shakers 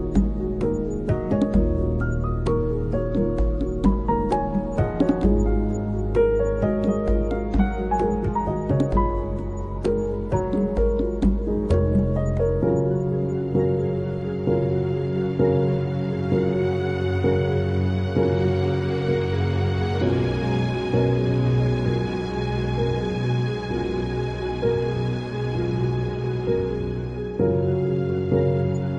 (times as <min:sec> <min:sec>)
0:00.0 0:13.8